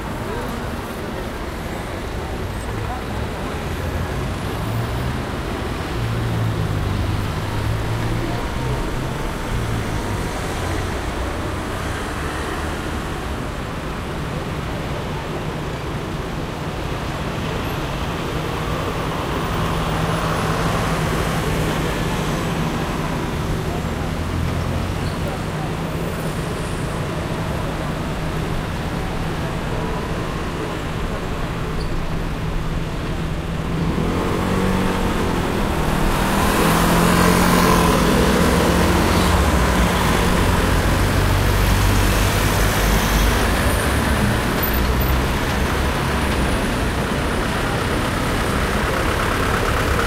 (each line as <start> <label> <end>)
0.0 Cars 50.0
16.6 passers-by 50.0